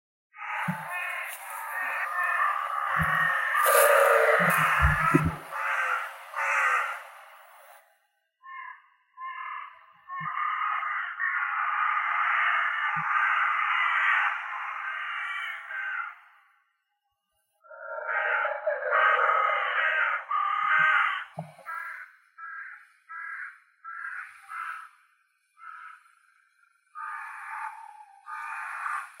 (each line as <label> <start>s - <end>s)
chorus of crows 0.3s - 16.9s
wind noise 0.6s - 7.7s
chorus of crows 17.6s - 29.2s